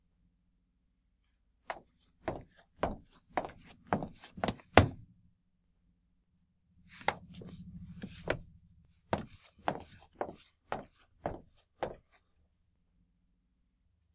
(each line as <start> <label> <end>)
1.7 Footsteps 5.0
7.0 Footsteps 8.5
9.1 Footsteps 12.2